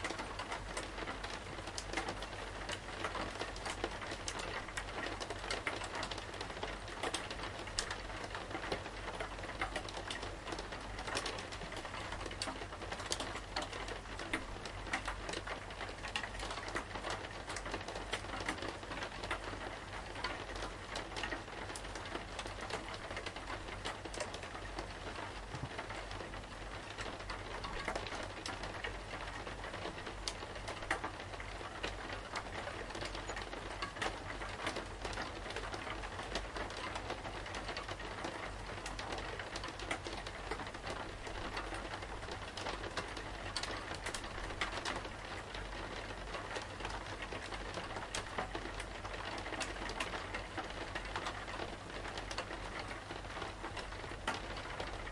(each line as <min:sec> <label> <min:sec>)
0:00.0 Rain on a window 0:55.1